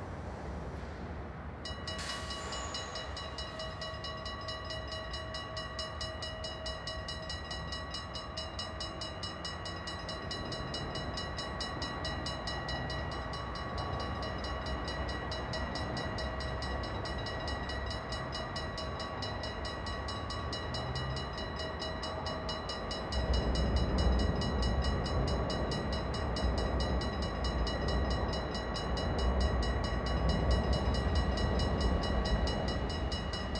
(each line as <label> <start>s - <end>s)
train crossing with warning bell 0.0s - 33.5s